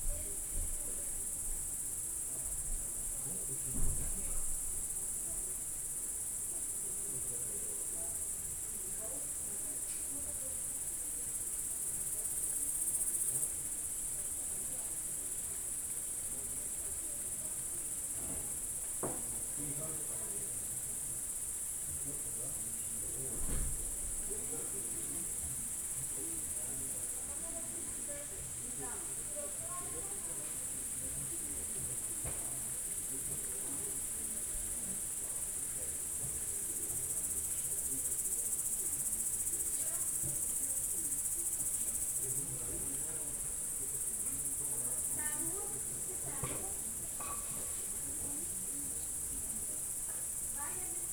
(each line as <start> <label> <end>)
0.0 people talking 1.3
6.4 people talking 21.2
21.9 people talking 51.1
43.3 insects singing 47.2
47.8 insects singing 51.1